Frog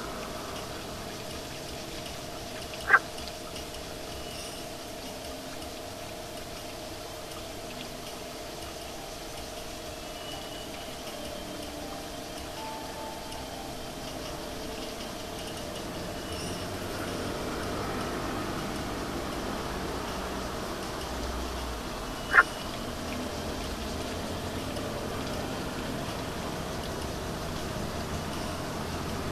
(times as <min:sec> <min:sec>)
0:02.7 0:03.3, 0:22.0 0:24.1